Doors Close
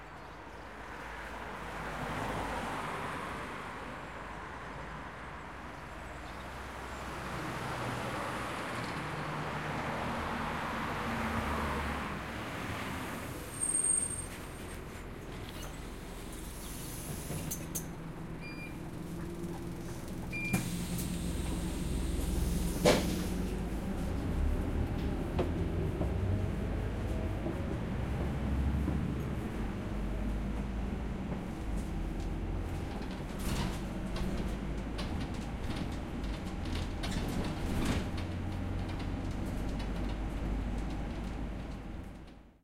15.3s 23.7s

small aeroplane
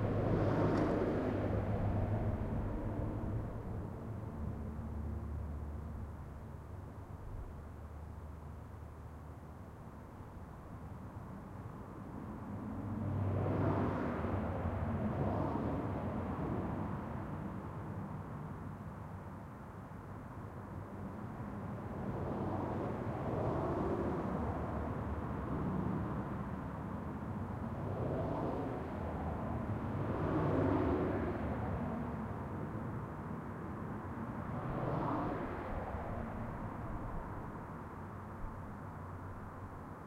0.0s 8.5s, 20.8s 40.0s

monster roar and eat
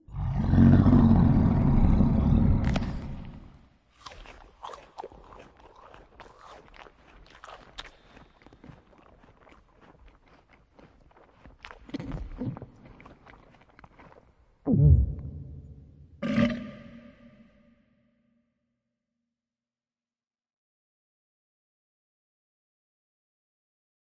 0.1s 15.6s, 16.2s 17.3s

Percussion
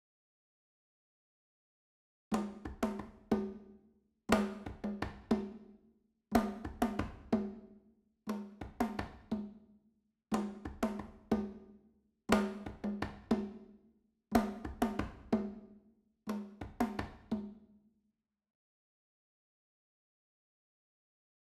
2.3s 17.8s

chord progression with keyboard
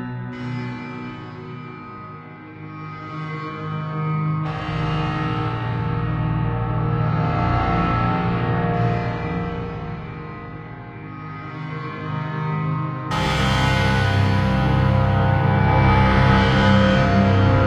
12.4s 17.6s

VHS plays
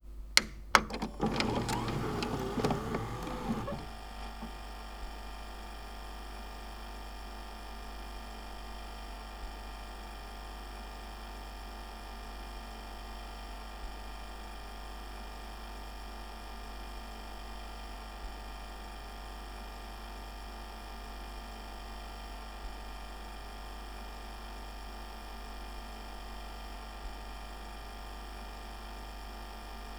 0.4s 4.6s

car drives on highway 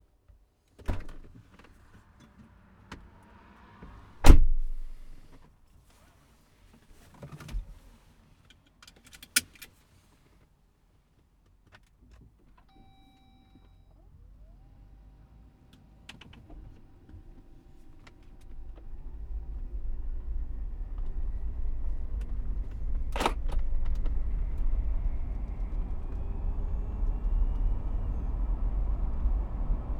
1.9s 5.4s, 14.0s 29.9s

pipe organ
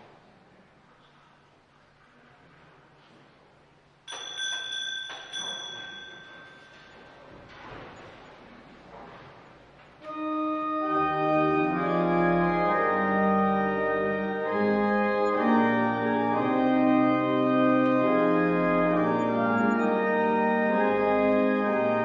10.0s 22.0s

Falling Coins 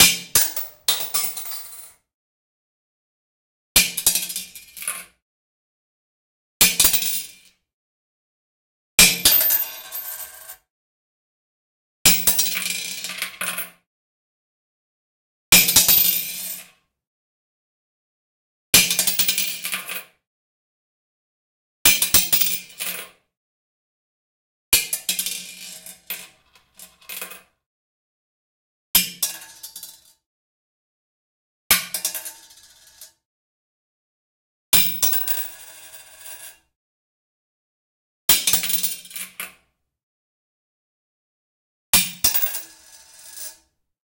0.4s 1.9s

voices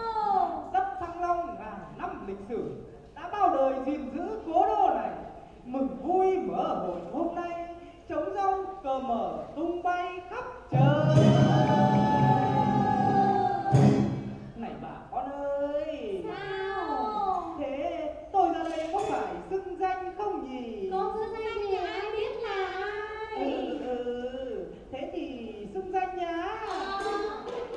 9.6s 27.7s

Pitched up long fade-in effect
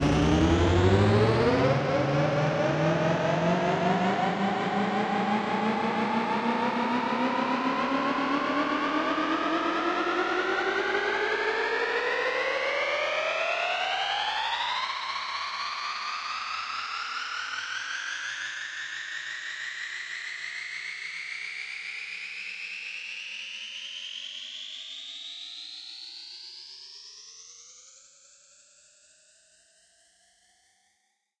0.0s 6.2s

